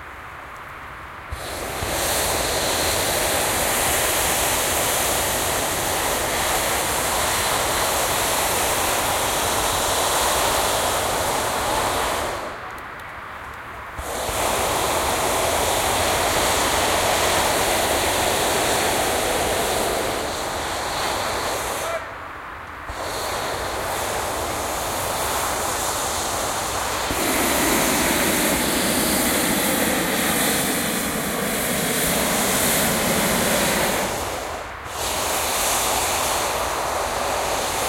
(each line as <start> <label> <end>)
0.6 burner 37.8